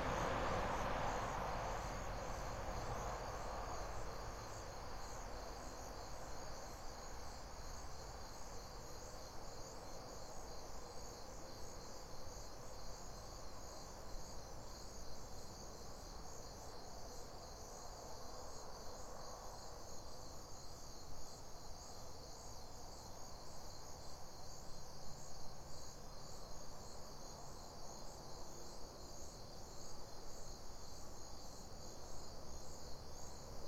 truck drive-by 0:00.0 - 0:04.9
open field crickets 0:00.0 - 0:33.6

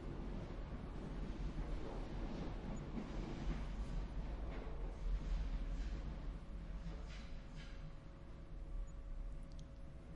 Train 0:00.0 - 0:10.1

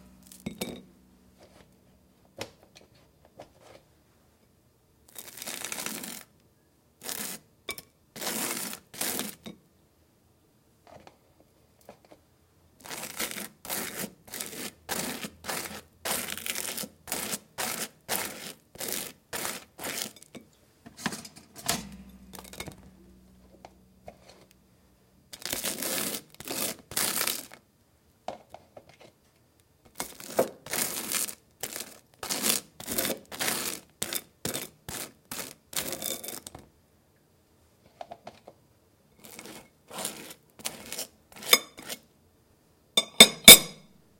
putting the knife down on the plate 0:21.0 - 0:22.9
buttering toast 0:21.7 - 0:23.0
putting the knife down on the plate 0:43.0 - 0:43.8

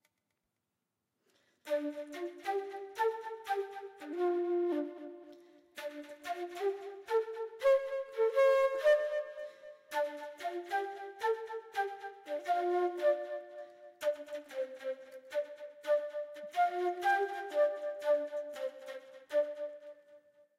acoustic flute 0:01.7 - 0:20.5

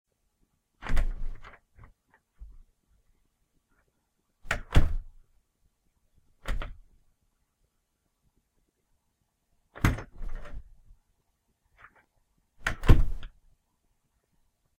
Bathroom door opens, closes, locks, reopens, and closes again 0:00.8 - 0:02.3
Bathroom door opens, closes, locks, reopens, and closes again 0:04.4 - 0:05.2
Bathroom door opens, closes, locks, reopens, and closes again 0:06.4 - 0:07.0
Bathroom door opens, closes, locks, reopens, and closes again 0:09.7 - 0:10.8
Bathroom door opens, closes, locks, reopens, and closes again 0:11.8 - 0:13.4

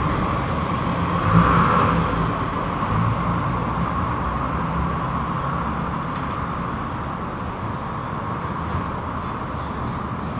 traffic 0:00.0 - 0:10.3

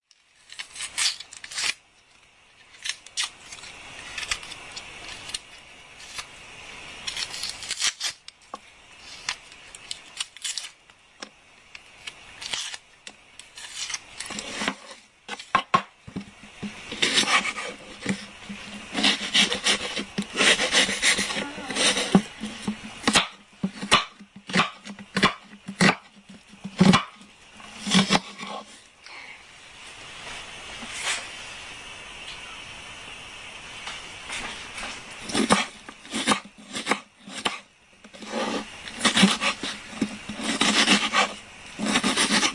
chopping onion 0:13.7 - 0:28.7
chopping onion 0:35.2 - 0:42.5

